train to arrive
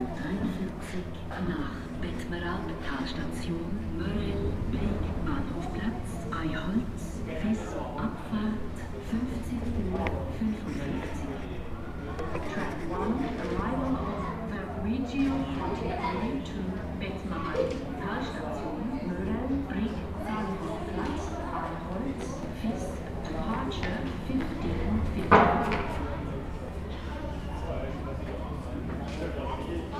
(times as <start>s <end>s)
0.0s 14.9s